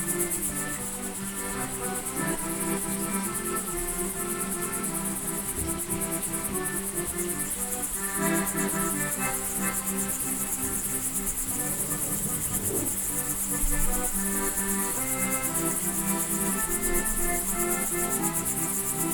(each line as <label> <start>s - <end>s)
playing accordion 0.0s - 19.1s